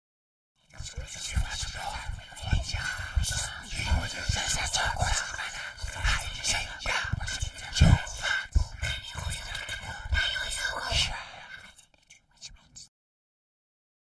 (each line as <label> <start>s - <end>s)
whispers 0.6s - 12.9s